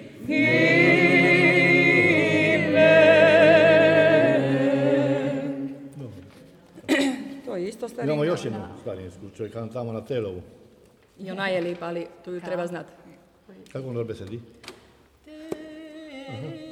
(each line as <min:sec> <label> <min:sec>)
0:00.0 liturgical singing 0:06.2
0:15.2 liturgical singing 0:16.7